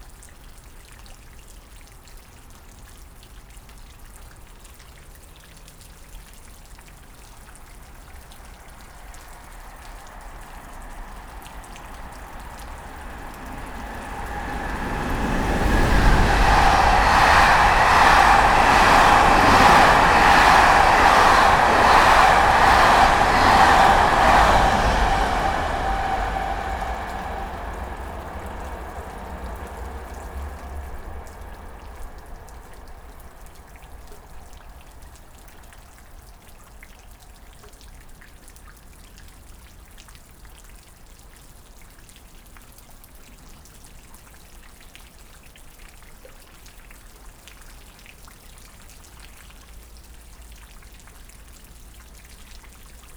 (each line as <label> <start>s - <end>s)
Constant rain 0.0s - 53.1s
low planes 7.6s - 35.7s
fast trains 7.7s - 36.0s